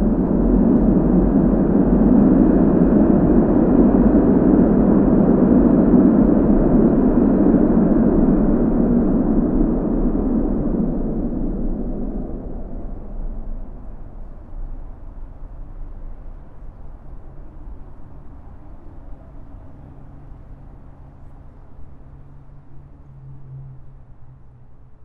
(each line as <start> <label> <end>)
0.0 heavy sound of the tramways 16.6